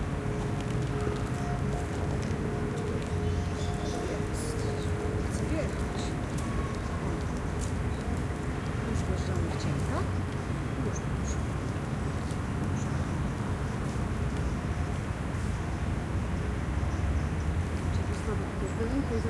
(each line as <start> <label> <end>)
0.0 distant cars' pass-bys 19.2